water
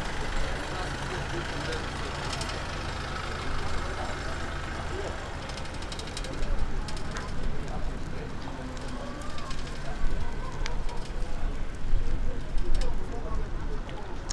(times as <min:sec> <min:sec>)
0:06.2 0:14.3